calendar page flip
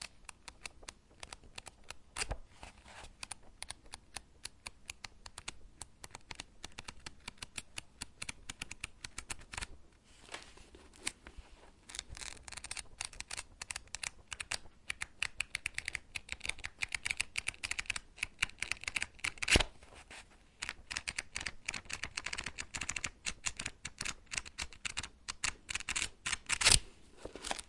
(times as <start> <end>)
8.5 14.6, 25.9 27.6